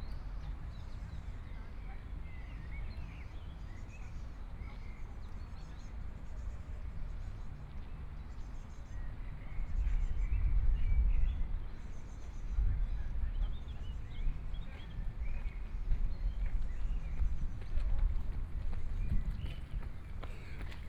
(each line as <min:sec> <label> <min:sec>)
0:18.8 Birdsong 0:20.8